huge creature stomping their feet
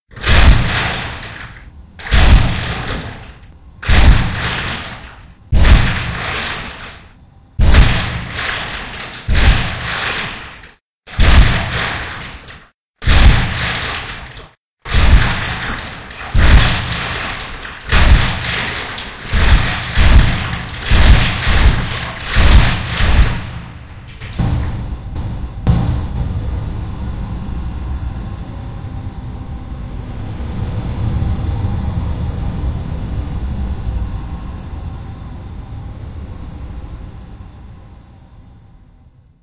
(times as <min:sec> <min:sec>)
0:03.8 0:06.9, 0:07.6 0:10.5, 0:11.1 0:27.3